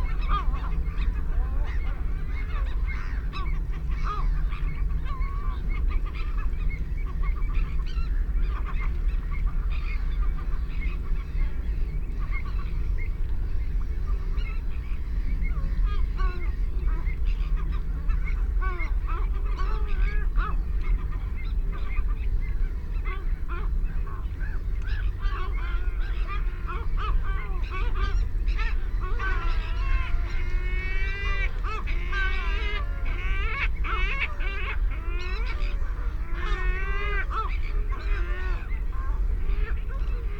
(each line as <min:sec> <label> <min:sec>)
0:00.0 mallard 0:13.0
0:00.0 black-headed gull 0:40.3
0:00.0 canada goose 0:40.3
0:00.0 herring gull 0:40.3
0:00.0 planes 0:40.3
0:00.0 ringed plover 0:40.3
0:22.9 mallard 0:40.3